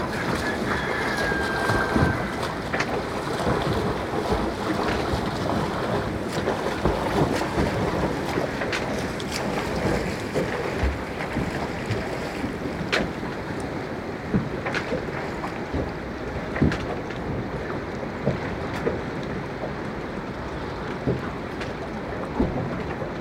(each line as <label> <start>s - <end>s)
roosters 0.0s - 2.6s
swimming 0.0s - 23.2s
waves splashes 0.0s - 23.2s